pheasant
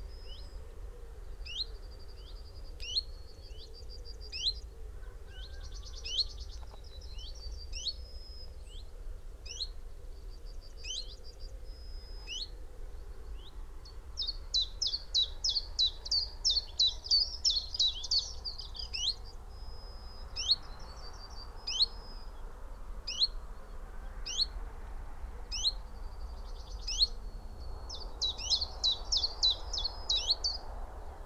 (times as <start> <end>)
0.0 22.4